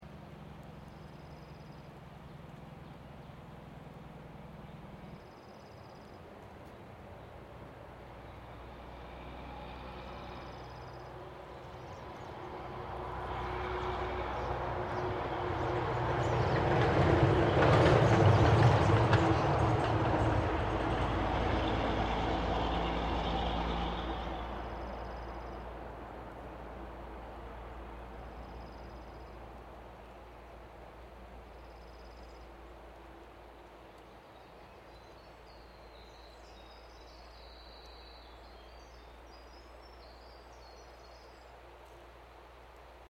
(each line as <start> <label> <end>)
6.9 Logging truck passing 33.9